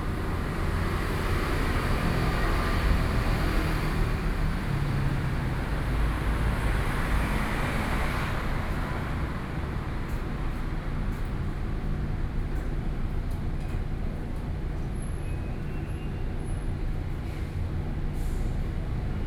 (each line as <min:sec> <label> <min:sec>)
0:00.0 Traffic noise 0:19.2